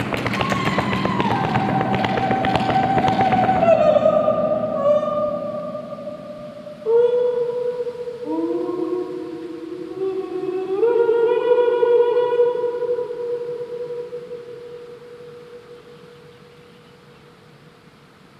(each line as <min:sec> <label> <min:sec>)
0:00.0 percussion improvisation 0:05.0
0:00.0 Voice 0:05.6
0:14.6 birds 0:18.0